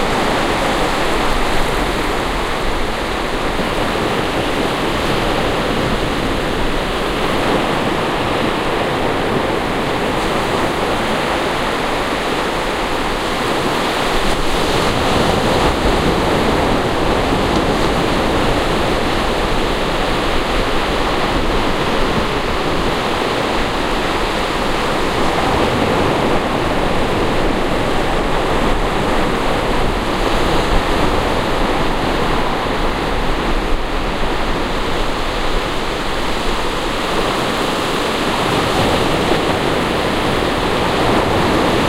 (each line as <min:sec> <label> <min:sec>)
0:00.0 waves 0:41.8
0:00.0 windy 0:41.8